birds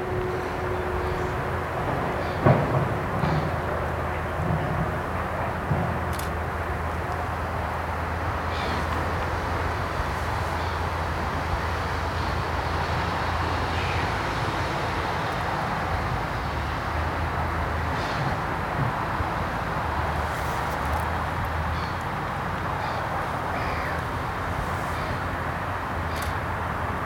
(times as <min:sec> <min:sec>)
0:21.5 0:25.3